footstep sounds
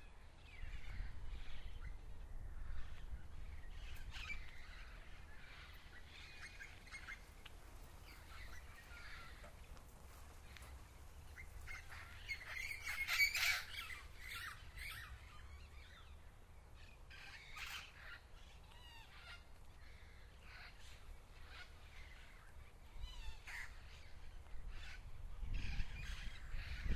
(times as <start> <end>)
9.4 11.7